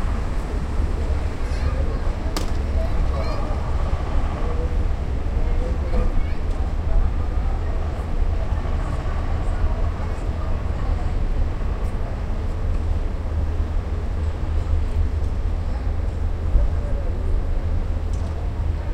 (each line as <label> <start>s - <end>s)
people 1.0s - 13.0s